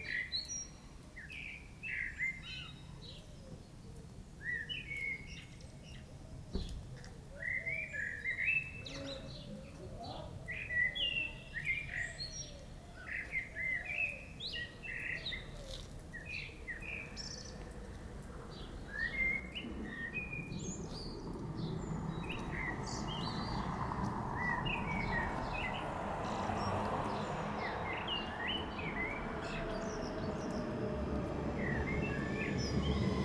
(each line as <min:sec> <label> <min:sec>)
0:07.4 blackbird singing loudly 0:17.6
0:18.0 The train arrives 0:33.2
0:18.6 blackbird singing loudly 0:21.2